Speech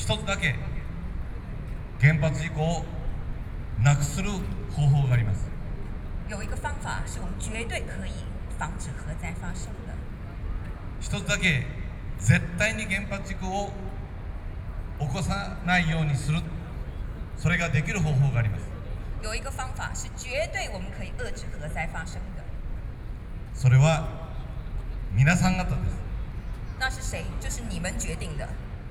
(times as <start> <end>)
0.0 0.8, 2.0 3.0, 3.8 5.6, 6.3 10.1, 11.0 13.9, 15.0 16.8, 17.4 22.5, 23.6 24.4, 25.1 26.1, 26.8 28.6